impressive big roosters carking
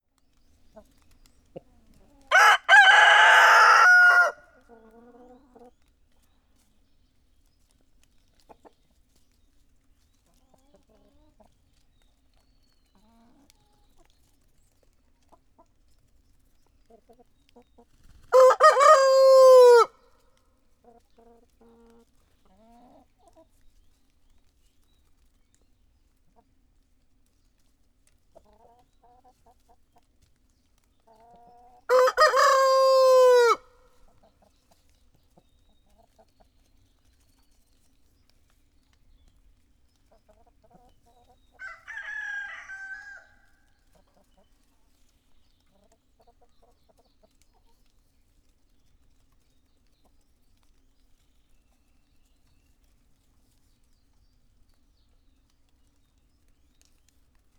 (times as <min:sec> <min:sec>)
0:02.3 0:04.5, 0:18.3 0:19.9, 0:31.9 0:33.7, 0:41.6 0:43.5